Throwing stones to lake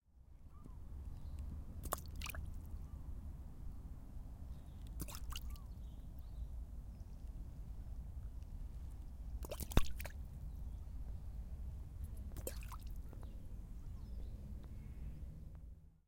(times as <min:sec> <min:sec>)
0:01.8 0:02.5, 0:05.0 0:05.5, 0:09.4 0:10.2, 0:12.3 0:13.0